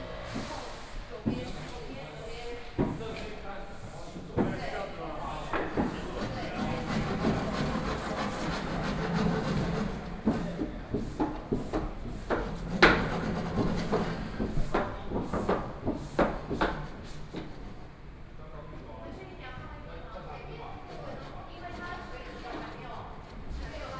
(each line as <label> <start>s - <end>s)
Construction carpentry 0.0s - 18.0s